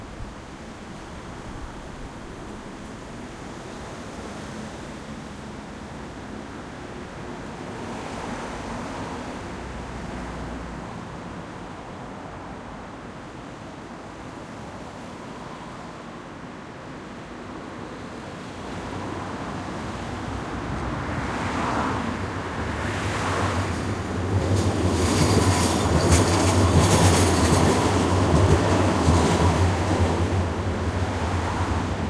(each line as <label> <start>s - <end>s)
traffic 0.0s - 32.0s